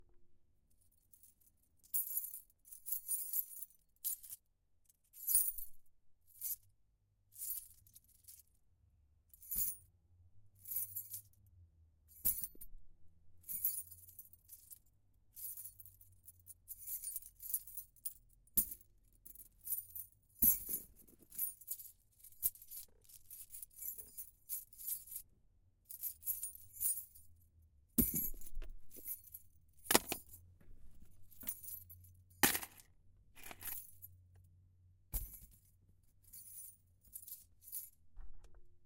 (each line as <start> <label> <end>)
28.0 keychain jingling 30.4
31.1 keychain jingling 32.8
33.4 keychain jingling 34.1